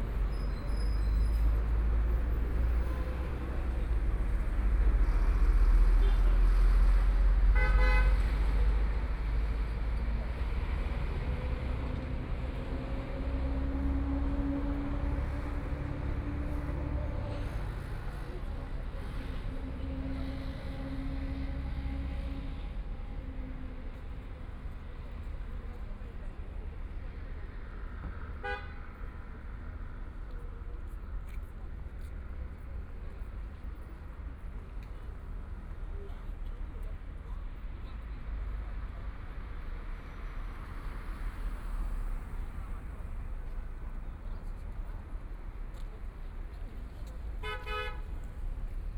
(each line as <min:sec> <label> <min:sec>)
0:27.8 Walking on the road 0:48.9